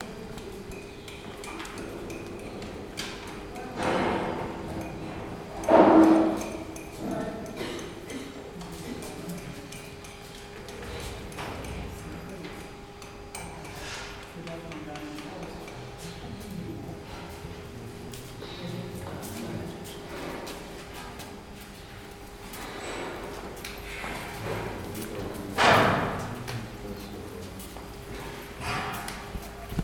0.0s men at work 29.8s

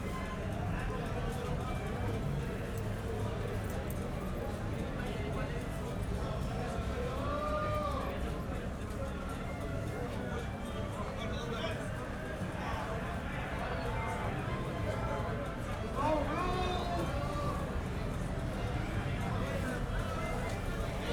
0.0s people at the taxi stand 21.1s

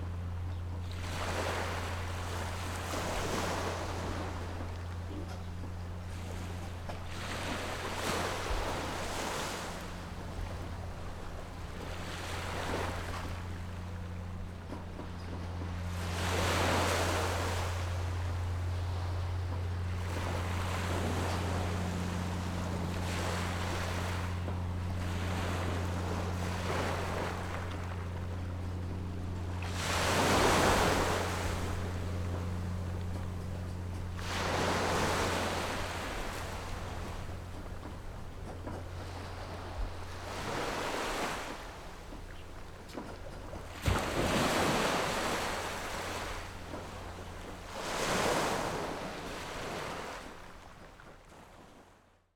0.0s waves 52.3s
0.0s Birds singing 1.0s

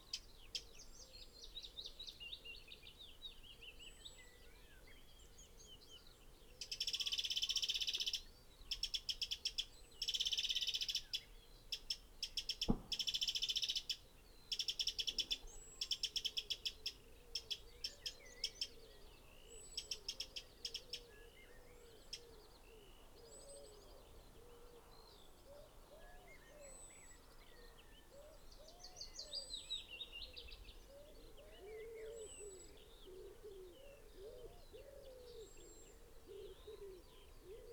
0.0s blackbird 37.7s
0.0s pheasant 37.7s
0.0s willow warbler song 37.7s
12.3s blackcap 16.6s

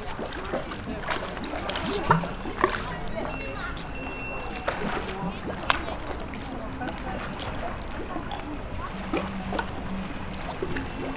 0.0s sea 11.1s

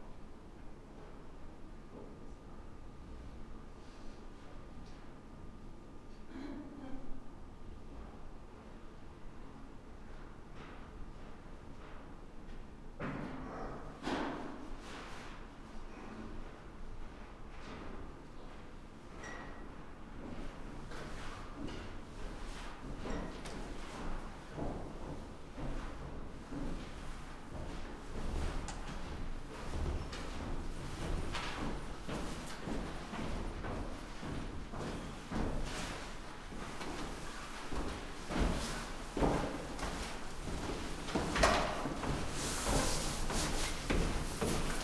16.6s tenants and hotel guests walking up and down the stairs 44.8s

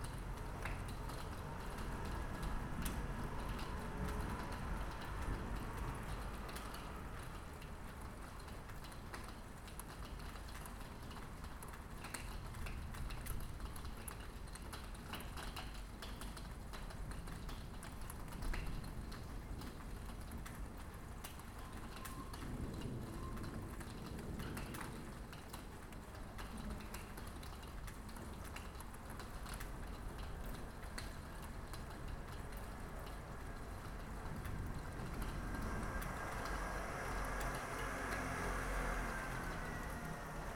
0.0s rain 40.5s

